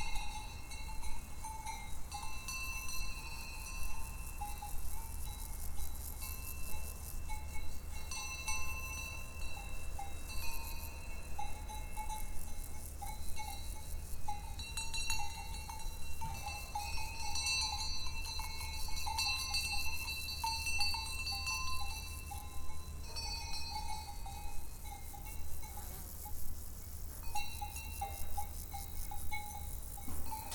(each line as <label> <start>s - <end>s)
insectes dans les herbes 0.0s - 30.5s